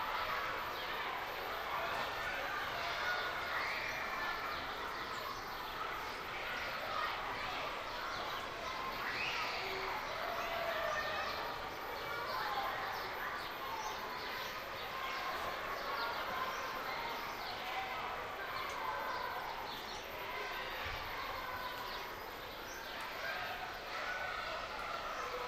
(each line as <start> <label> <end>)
0.0 Kids playing 25.4
0.1 birds 25.4
9.0 screaming 11.5
23.2 screaming 25.4